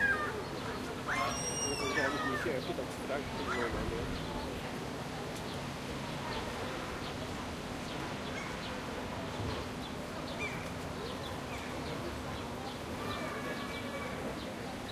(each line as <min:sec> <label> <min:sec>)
0:00.0 altercation ensues between a number of seagulls 0:02.6
0:00.0 pedestrian 0:14.9
0:00.0 young people and children playing 0:14.9
0:03.3 altercation ensues between a number of seagulls 0:04.1